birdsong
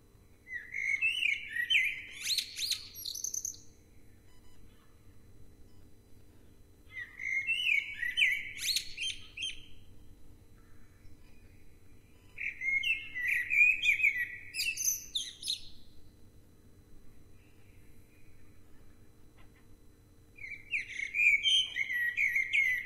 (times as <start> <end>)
0.4 5.0, 6.9 9.9, 10.6 15.9, 20.4 22.8